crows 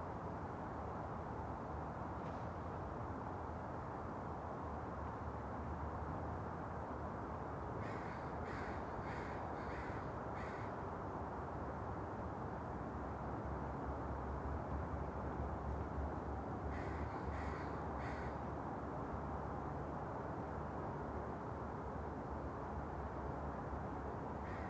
0:07.8 0:10.7, 0:16.7 0:18.4, 0:24.4 0:24.6

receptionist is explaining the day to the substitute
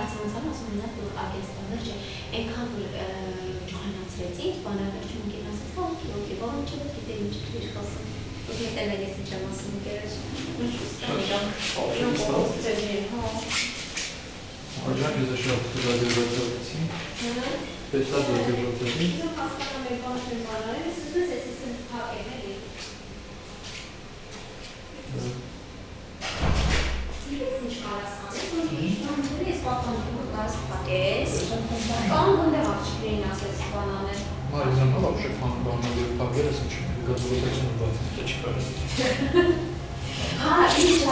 0:27.3 0:39.4

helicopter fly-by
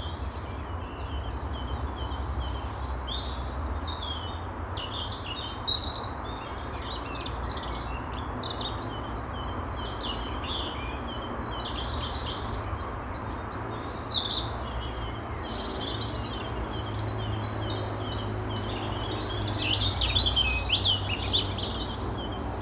0:14.5 0:22.6

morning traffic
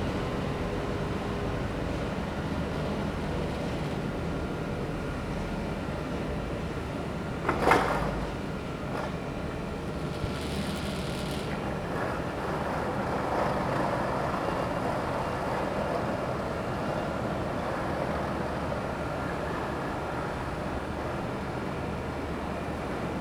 0:10.4 0:23.2

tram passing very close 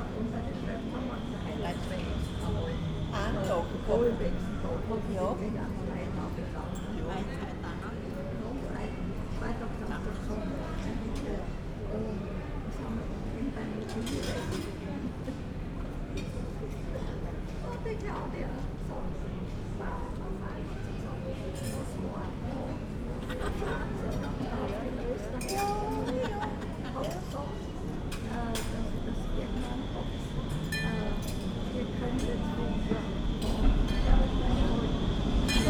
0:27.9 0:35.6

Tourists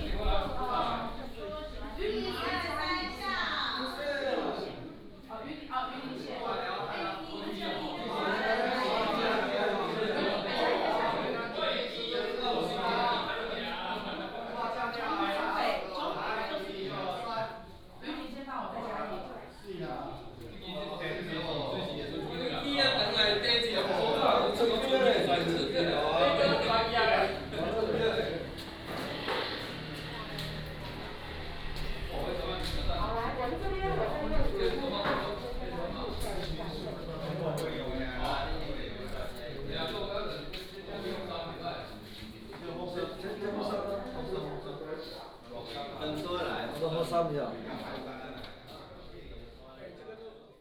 0:17.8 0:44.6

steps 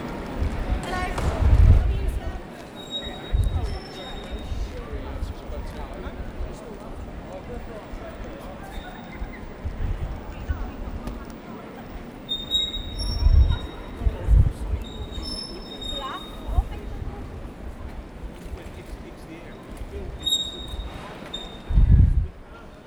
0:00.0 0:07.2

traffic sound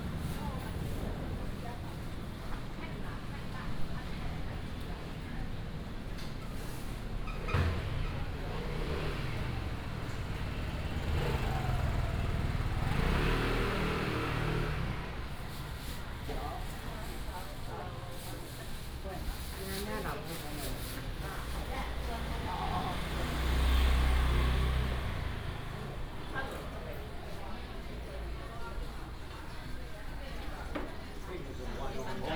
0:06.3 0:19.6, 0:20.2 0:32.3

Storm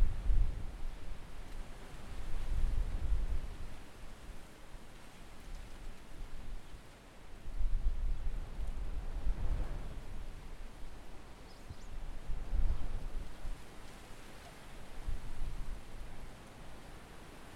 0:00.0 0:04.4, 0:07.4 0:11.4

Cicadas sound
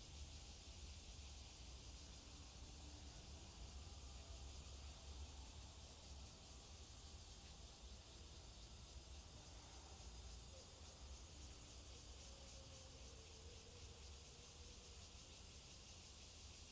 0:10.4 0:16.7

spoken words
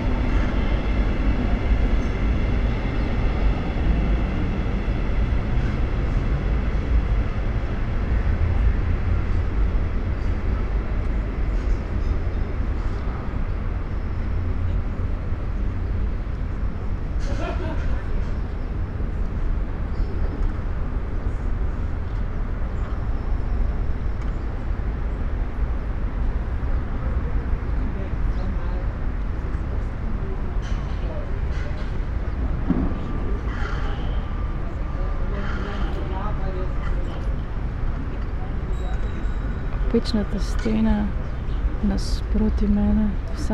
0:41.8 0:43.5

